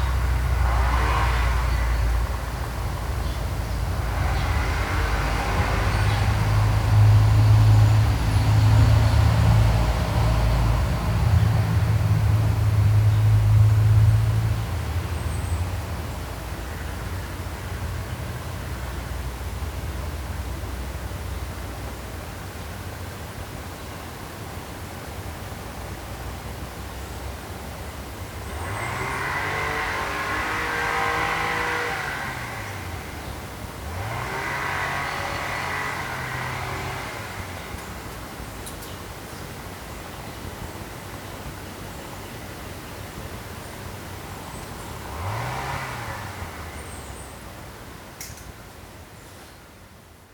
3.2s noise from a strimmer 9.6s
28.2s crows protest against the motor noise 41.7s
28.3s noise from a strimmer 38.9s
44.5s noise from a strimmer 47.2s

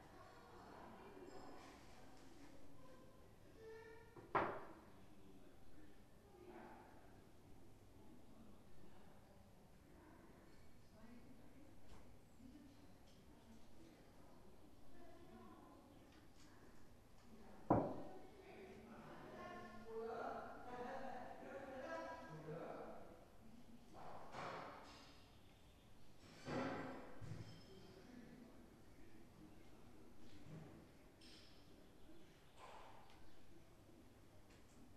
0.0s ladies living at the Waldheim, Bad Salzuflen, having dinner 34.9s

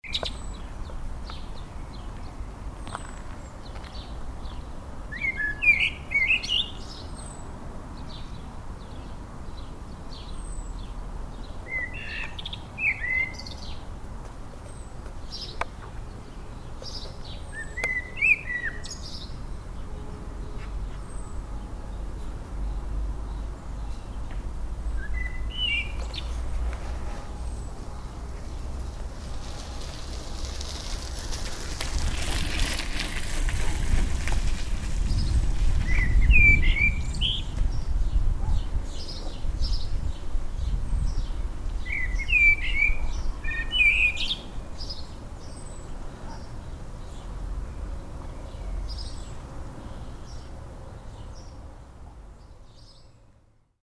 0.0s evening bird 7.4s
14.6s evening bird 19.9s
23.3s evening bird 28.6s
25.2s bicycle passing 38.0s
35.1s evening bird 47.3s

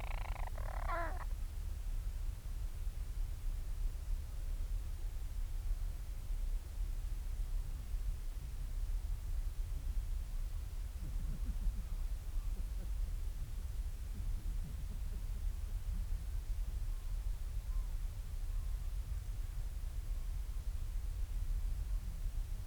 0.0s storm petrel quiet calls and purrings 1.3s

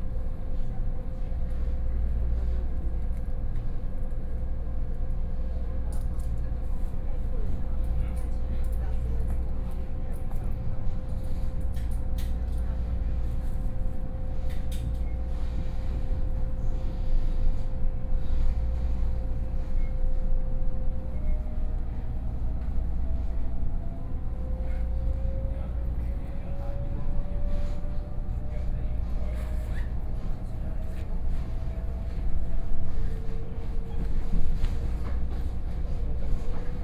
0.0s Local Train 36.8s

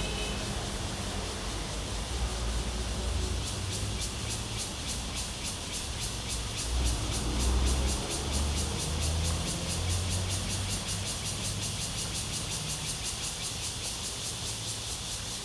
0.0s Traffic Sound 13.8s
0.0s Cicadas cry 15.4s

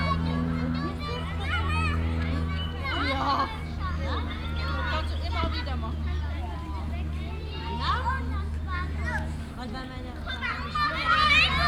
0.0s plane is crossing the sky 11.6s
0.0s voices of playing childrens 11.6s

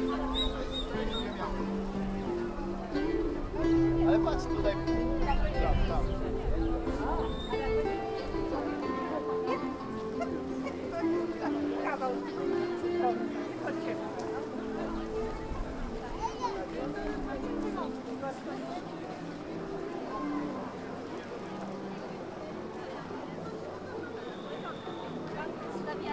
7.6s fountain 26.1s

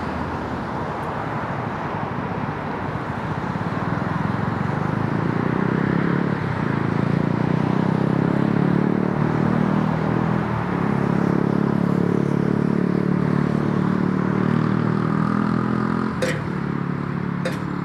9.9s Pulse of traffic 17.8s
16.2s clang of gate 16.6s
17.4s clang of gate 17.8s

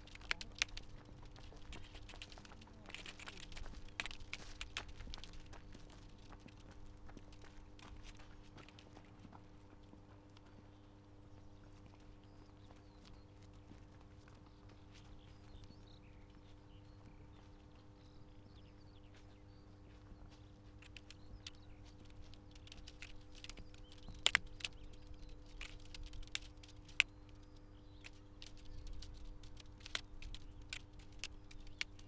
0.0s voices of the sunday strollers 6.7s
20.8s loose strp of plastic tape jigling in the air 32.0s

